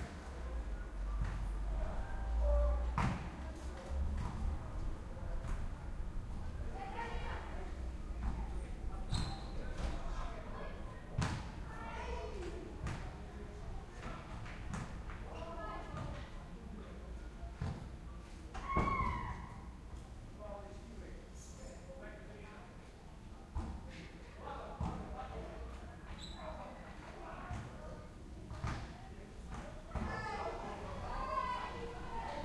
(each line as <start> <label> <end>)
0.0 group of people are playing with a ball outside 16.6
17.5 group of people are playing with a ball outside 20.1
23.5 group of people are playing with a ball outside 25.8
27.1 group of people are playing with a ball outside 32.4
28.5 voices 32.4